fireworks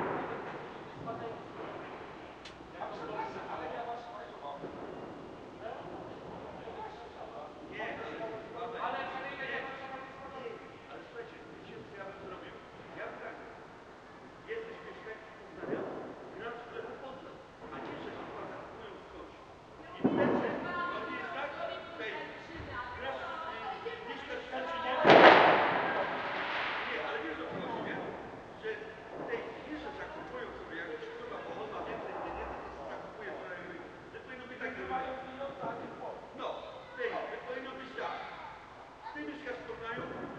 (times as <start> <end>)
0.0 3.4, 4.5 7.7, 15.5 16.4, 17.6 18.7, 20.0 21.2, 25.0 28.4, 29.0 31.2, 40.0 40.3